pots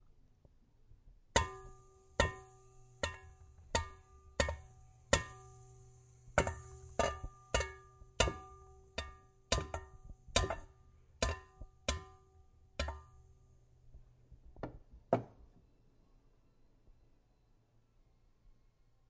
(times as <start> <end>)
1.3 14.1